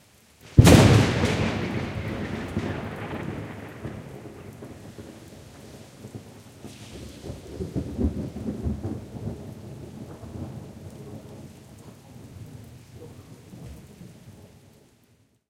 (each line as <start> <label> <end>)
0.6 very loud thunder clap 11.5